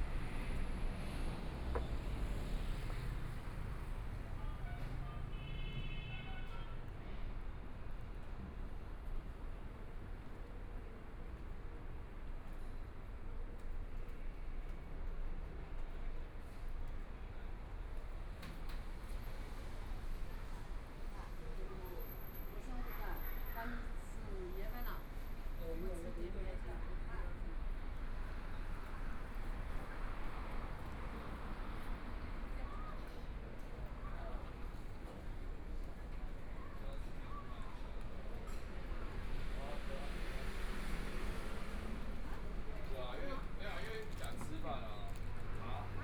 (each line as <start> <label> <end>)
0.0 Traffic Sound 7.6
0.0 Pedestrian 46.0
17.7 Traffic Sound 46.0
26.8 Walking on the road 46.0